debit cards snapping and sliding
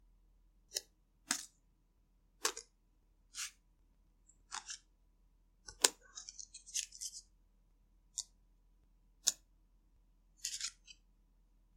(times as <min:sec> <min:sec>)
0:00.7 0:01.5, 0:02.4 0:02.7, 0:10.4 0:11.0